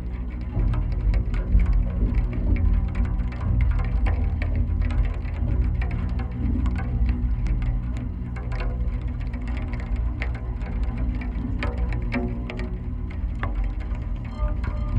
0.0s Millenium Bridge wires resonating in rain 14.9s
14.2s voices 14.9s

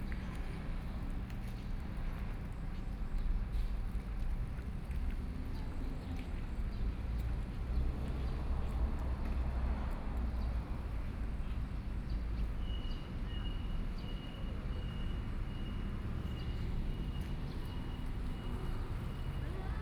7.3s Traffic Sound 19.8s

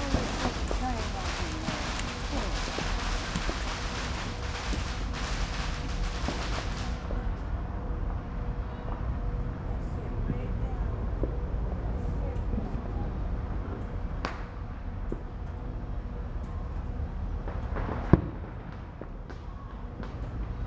0.0s fireworks 15.6s
16.4s fireworks 20.6s

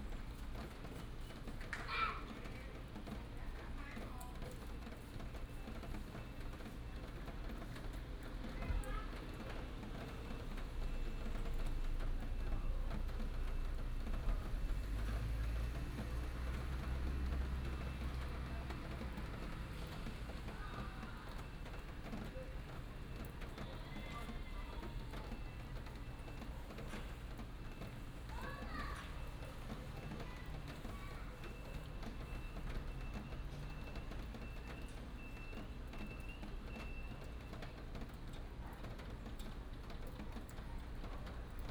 0.0s rain 41.7s
10.5s traffic sound 36.8s

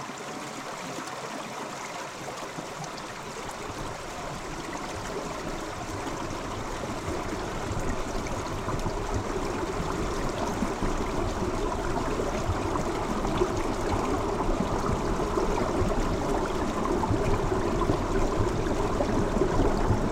0.0s Small rivers and streamlets 20.1s

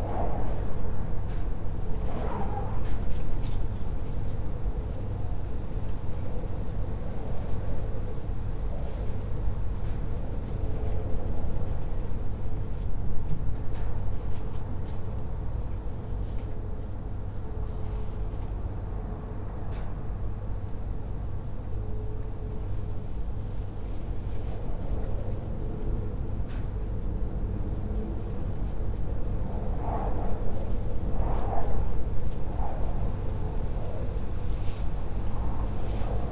0.0s wind gushing through a narrow gap of a sliding door 5.4s
0.0s metal sheet balcony wall bends in the wind 36.3s
23.7s wind gushing through a narrow gap of a sliding door 36.3s

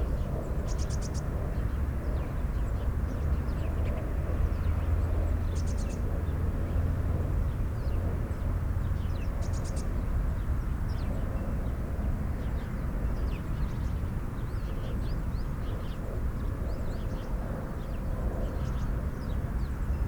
0.0s distant drone of traffic 20.0s
0.0s sparrows 6.1s
8.8s sparrows 11.7s
12.3s sparrows 20.0s

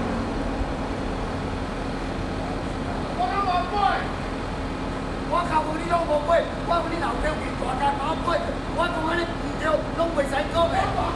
0.0s Road Construction 11.1s
5.2s Workers quarrel between each other 11.1s

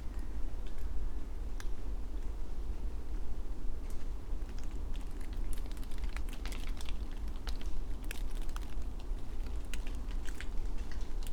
4.4s Raindrops from leaves 11.3s

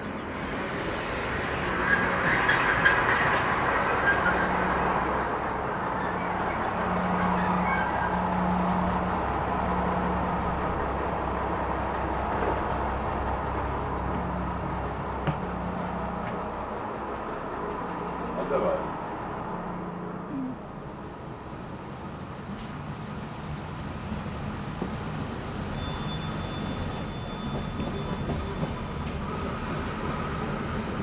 0.0s train 31.0s

